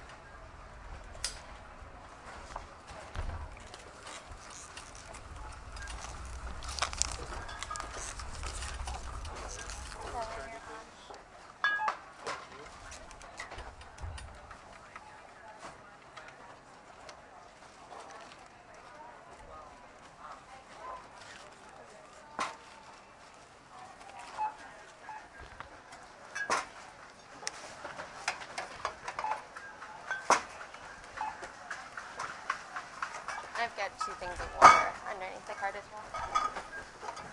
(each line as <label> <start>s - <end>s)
sounds from pushing the cart outside 0.0s - 37.3s
groceries rustling as they are put into bags 2.1s - 11.4s
conversation 4.4s - 11.2s
groceries rustling as they are put into bags 14.5s - 37.3s
conversation 30.6s - 37.0s